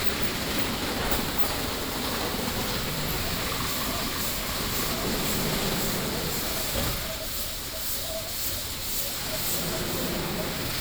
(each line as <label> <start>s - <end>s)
car washing street 0.0s - 10.8s